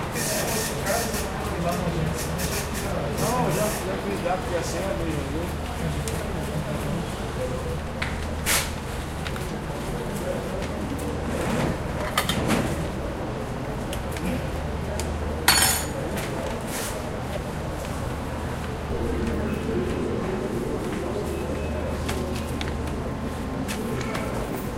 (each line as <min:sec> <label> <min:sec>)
0:00.0 people speaking 0:12.1
0:18.7 people speaking 0:24.7